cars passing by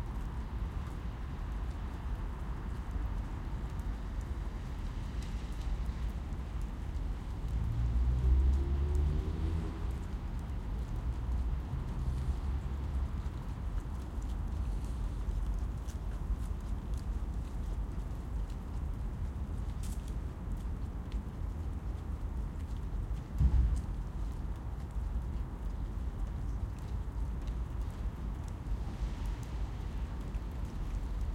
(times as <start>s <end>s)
7.4s 13.8s